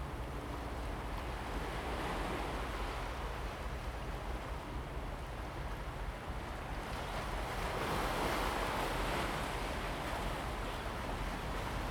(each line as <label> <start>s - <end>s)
waves 1.2s - 11.9s